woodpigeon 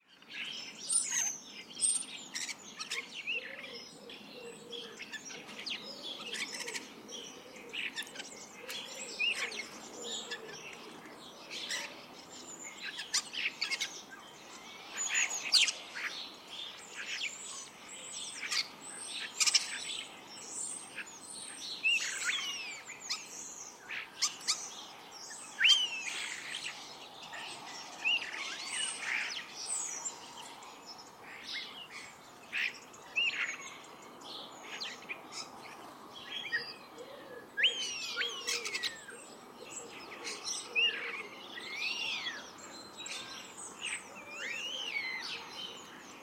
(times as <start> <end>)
2.3 12.0, 31.3 42.4